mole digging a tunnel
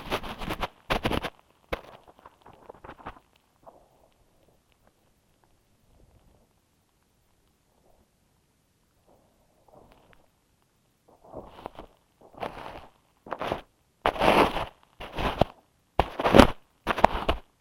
0:00.0 0:04.7, 0:11.1 0:17.6

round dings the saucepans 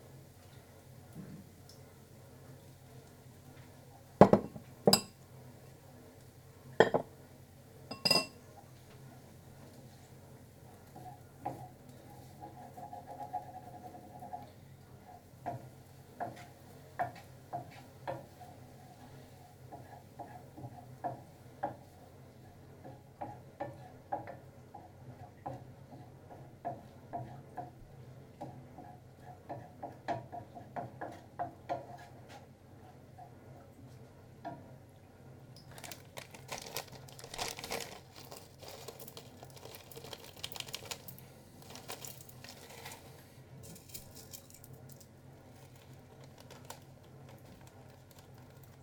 0:07.9 0:08.4

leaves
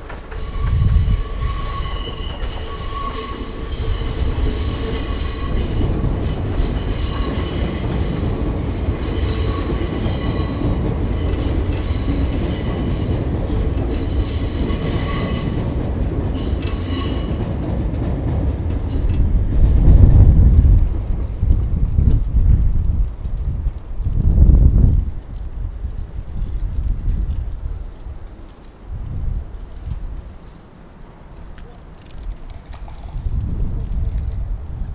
0:20.2 0:34.9

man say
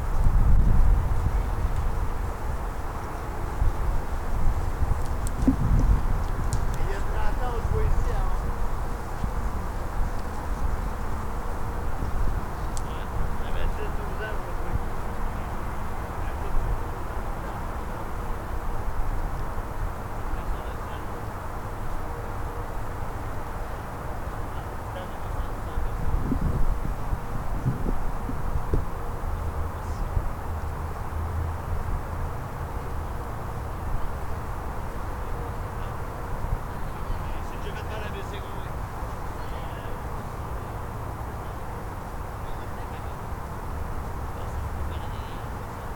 0:06.8 0:08.4, 0:12.8 0:15.5, 0:37.2 0:38.8

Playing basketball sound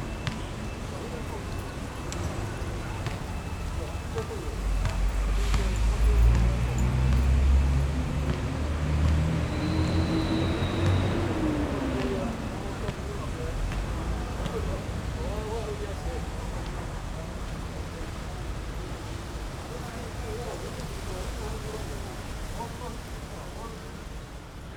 0:00.1 0:16.8

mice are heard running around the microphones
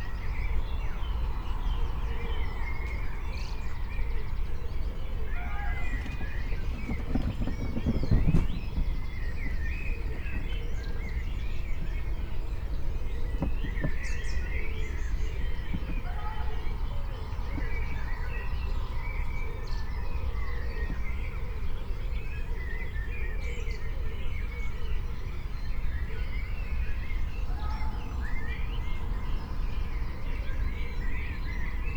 0:05.6 0:11.2

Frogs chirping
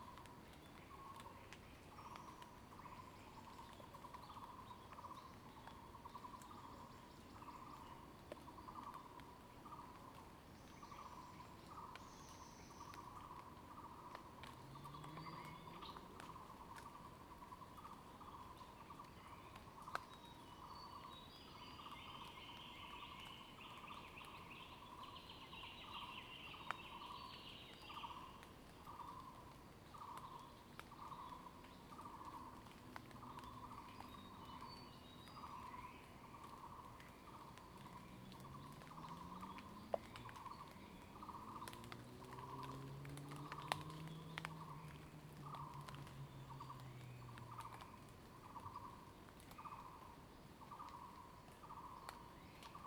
0:10.8 0:52.8

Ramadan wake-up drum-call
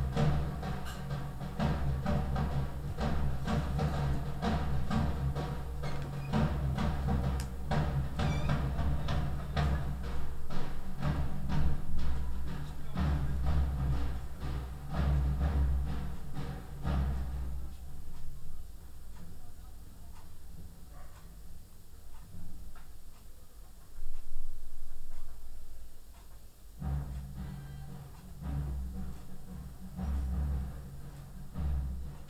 0:00.0 0:18.5, 0:26.7 0:32.2

